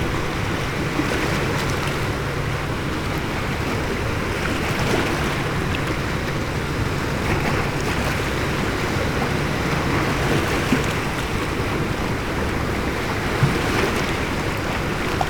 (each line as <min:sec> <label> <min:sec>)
0:00.0 late aftrenoon sea 0:15.2